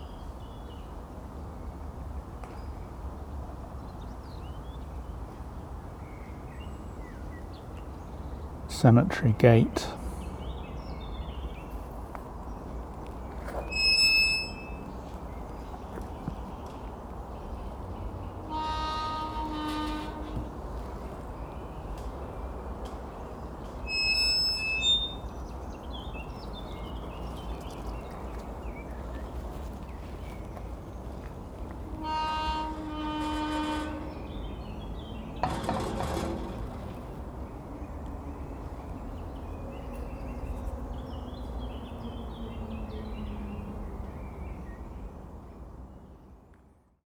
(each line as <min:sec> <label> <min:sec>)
0:13.5 squeaky gate 0:15.2
0:18.5 squeaky gate 0:20.6
0:23.9 squeaky gate 0:25.4
0:32.0 squeaky gate 0:34.6
0:35.2 squeaky gate 0:37.2